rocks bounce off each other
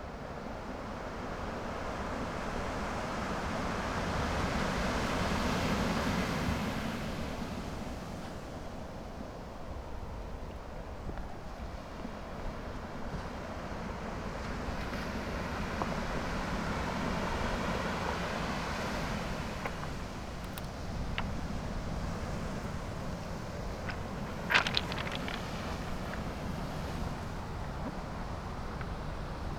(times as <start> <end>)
19.6 21.5, 22.4 28.0